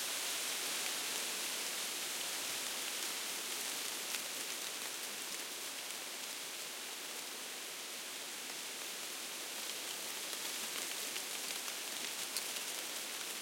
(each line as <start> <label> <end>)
0.0 wind through aspens 13.4